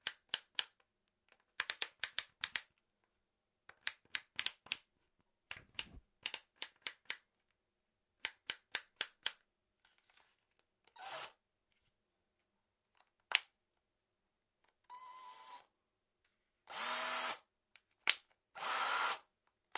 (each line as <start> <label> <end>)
5.5 click 7.2